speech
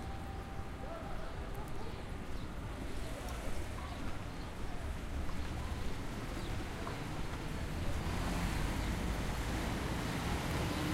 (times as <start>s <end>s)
0.0s 8.3s